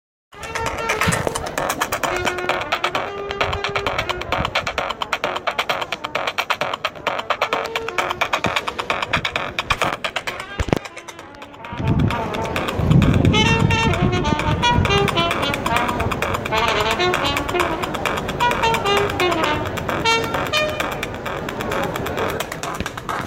beat 0:00.3 - 0:23.2
trumpet coming from outside the window 0:13.2 - 0:21.0

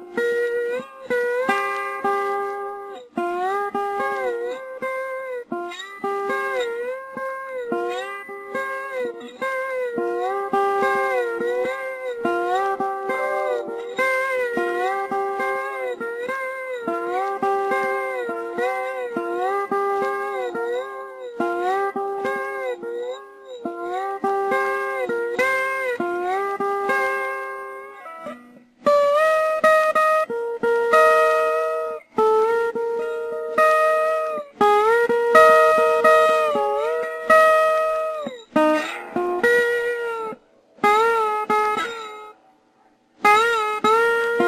slide playing on my acoustic guitar 0:00.0 - 0:44.4

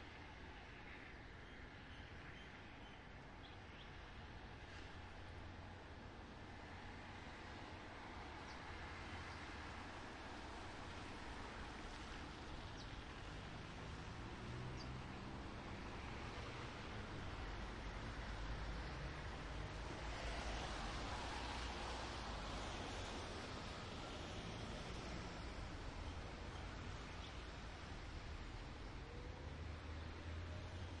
wet traffic 0:08.8 - 0:30.4

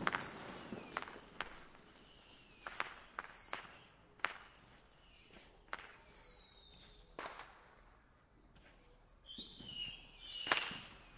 whistlers 0:00.0 - 0:04.0
bottle-rockets 0:00.0 - 0:04.5
crackly fountain sparklers 0:00.0 - 0:07.8
whistlers 0:04.7 - 0:07.6
whistlers 0:08.6 - 0:11.1
crackly fountain sparklers 0:09.4 - 0:11.1

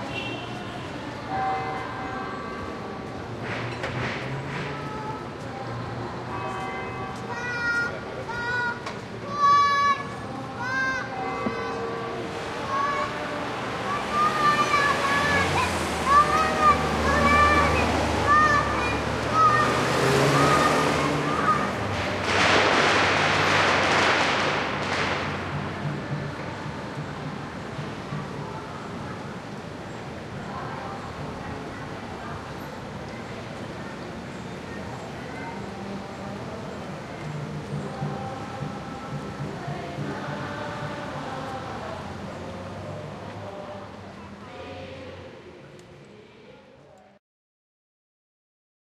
fire crackers 0:21.5 - 0:25.9

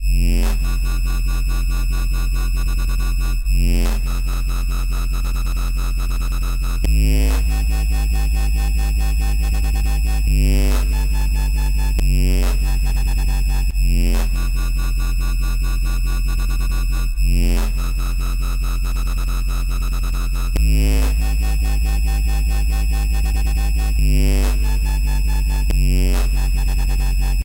dubstep wobble 0:00.0 - 0:27.4

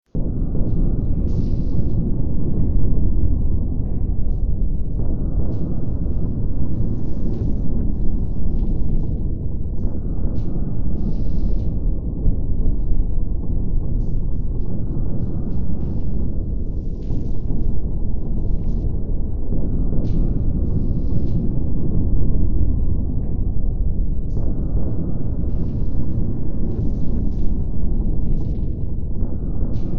Drone 0:00.1 - 0:29.9

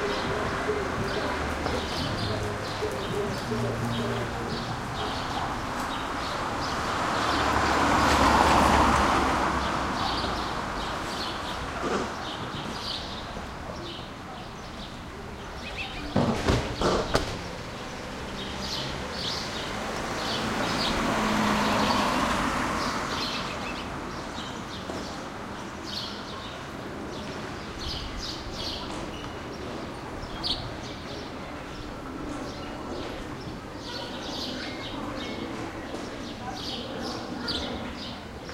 birds 0:00.0 - 0:38.5
cars pass real bumpy 0:00.2 - 0:13.0
cars pass real bumpy 0:16.0 - 0:25.3

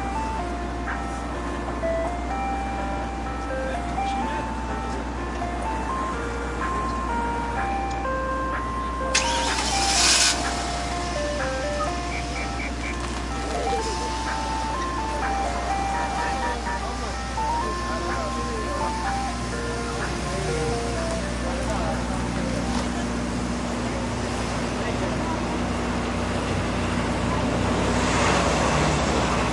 Ice cream song from ice cream car 0:00.0 - 0:24.2

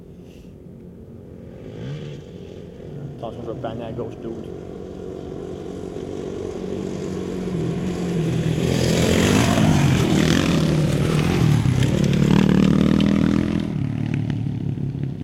motorcycle dirt bike motocross pass by medium speed 0:00.9 - 0:15.2
jump dirt ramp 0:08.4 - 0:15.2

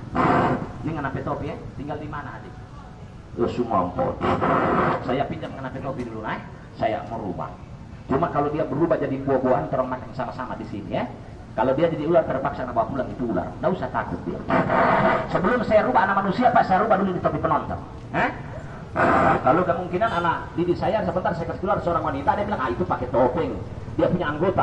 street Jathilan trance ceremony 0:10.6 - 0:24.6

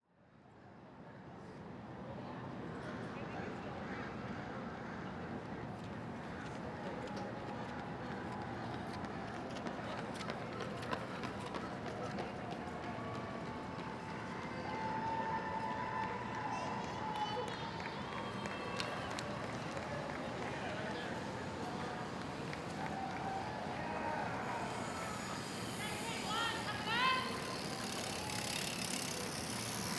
People running 0:06.3 - 0:14.6
traffic 0:17.4 - 0:29.9

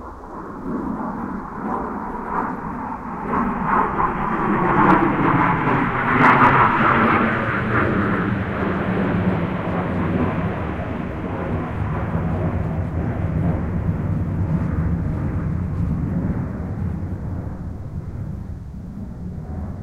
F-16 Fighting Falcon flying low 0:00.0 - 0:19.8
wind 0:00.0 - 0:19.8

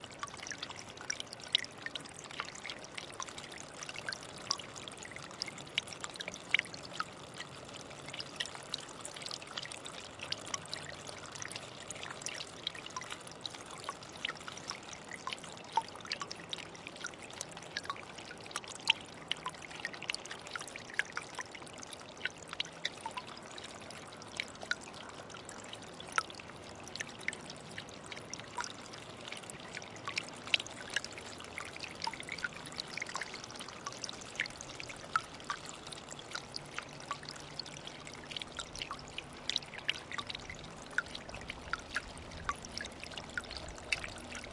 Small mountain side spring trickling 0:00.0 - 0:44.5
rain 0:23.4 - 0:44.5

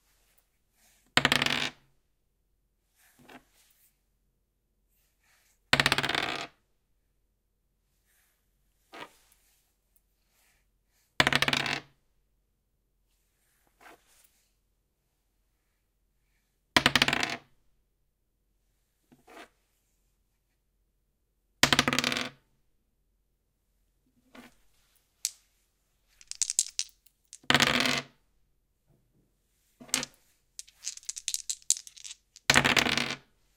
two dice being shaken and rolled together 0:26.1 - 0:28.0
Rolling a single twenty-sided plastic die on a wooden desk 0:26.2 - 0:28.0
Rolling a single twenty-sided plastic die on a wooden desk 0:29.8 - 0:33.2
two dice being shaken and rolled together 0:29.8 - 0:33.2

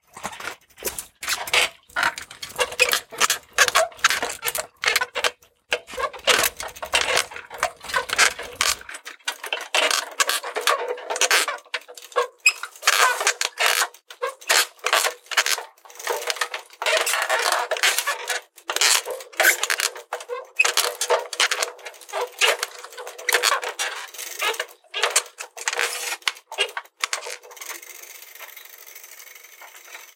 Squeaky Rattling Bike 0:00.1 - 0:30.1

